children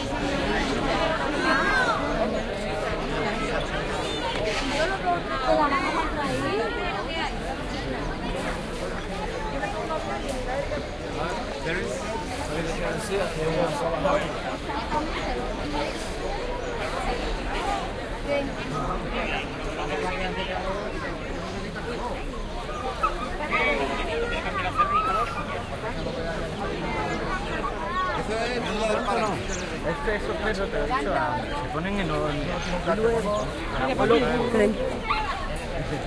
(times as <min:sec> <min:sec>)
0:22.2 0:26.1, 0:34.5 0:36.0